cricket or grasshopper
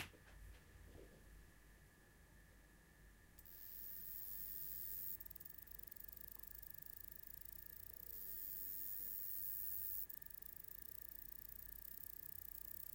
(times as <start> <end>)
3.4 12.9